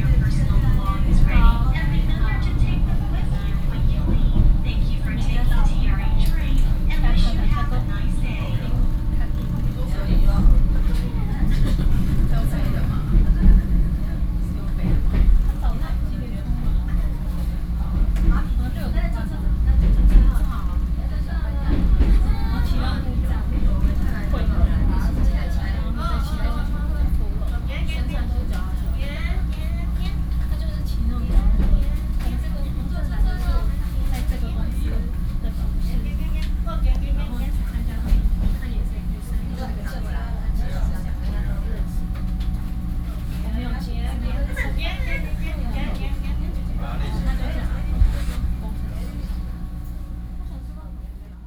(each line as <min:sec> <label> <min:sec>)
0:00.0 Train message broadcasting 0:51.4
0:00.0 train 0:51.4